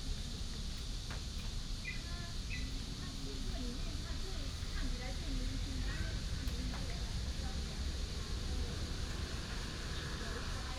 Cicada cry 1.8 - 2.8

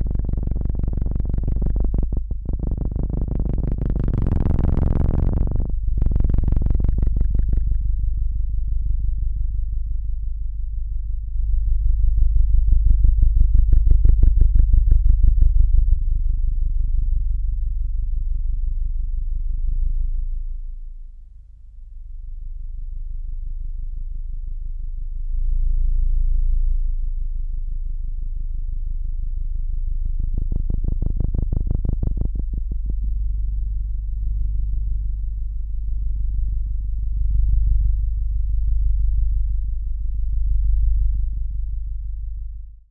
EM waves into audible tones 0.0 - 7.8
EM waves into audible tones 30.3 - 33.6

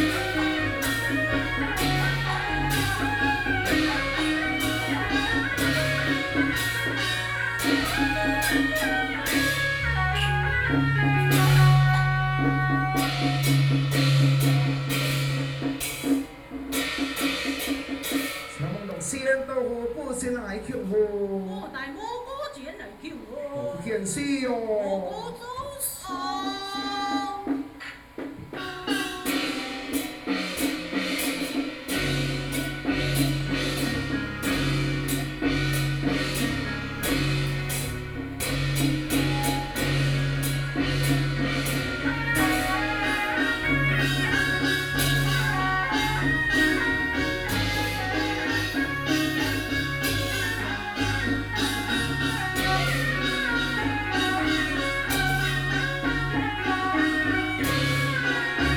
Taiwanese Opera 0.0 - 20.0
Taiwanese Opera 25.8 - 58.7

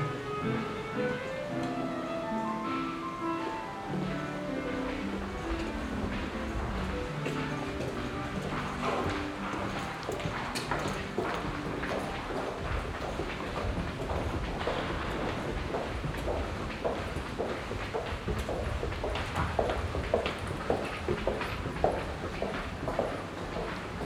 music performed by the students 0.0 - 16.0
steps 0.0 - 24.0

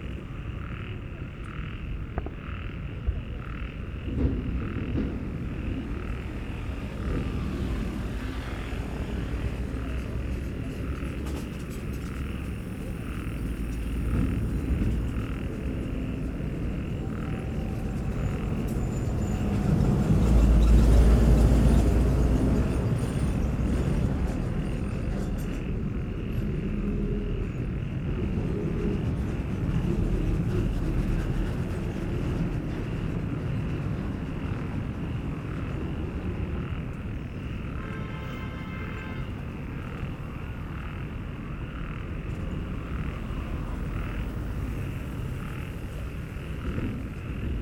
Busy traffic 0.0 - 47.6
Distant heavy construction work 0.0 - 47.6

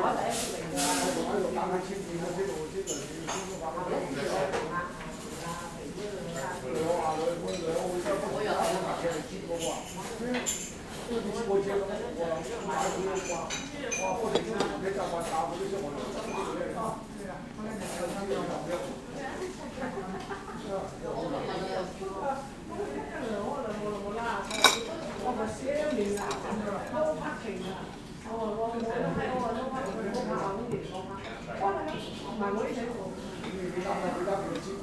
restaurant crew cutting vegetables 22.4 - 34.8

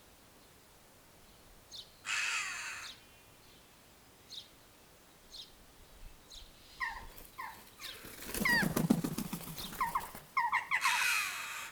wing beats 6.8 - 11.7
jackdaws 6.9 - 11.3

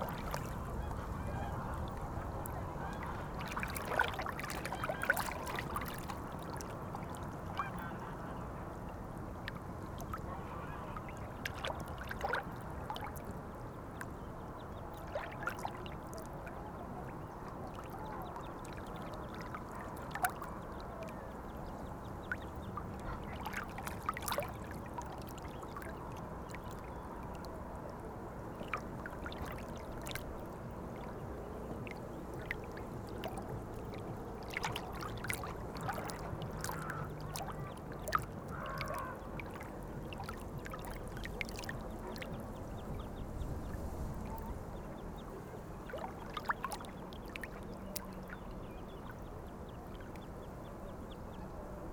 Wavelets 0.0 - 8.5
Wavelets 28.5 - 50.3

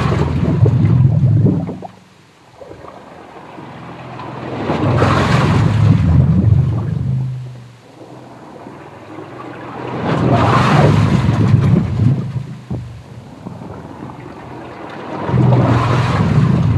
ancient sewer pipes 0.0 - 16.7

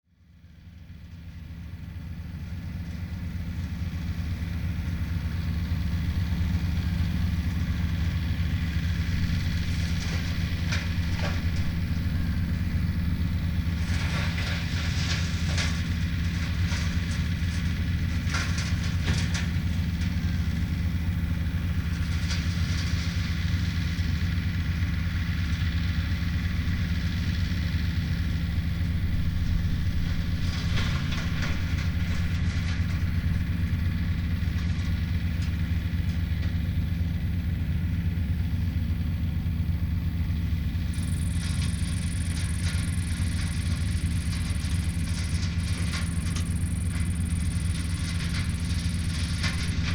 tractor chopping fallen brushes 0.2 - 49.9

